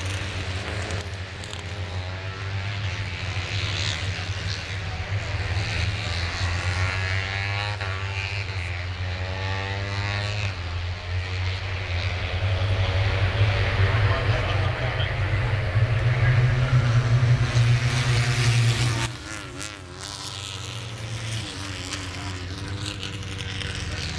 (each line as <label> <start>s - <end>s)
moto3 warmup 0.0s - 24.1s